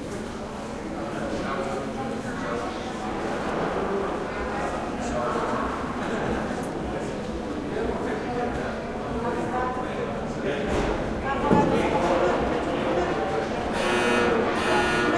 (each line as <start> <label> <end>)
0.0 crowd 15.1